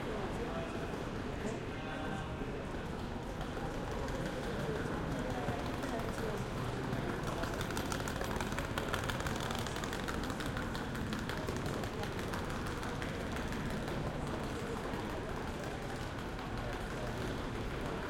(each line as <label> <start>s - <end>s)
train 0.0s - 18.0s